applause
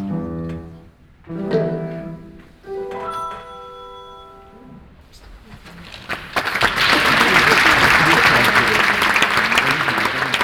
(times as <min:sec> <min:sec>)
0:05.5 0:10.4